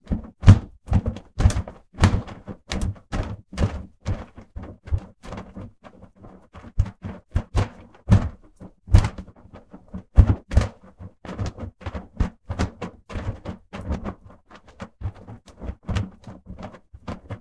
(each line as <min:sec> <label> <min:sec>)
0:00.0 Flapping Fabric 0:17.4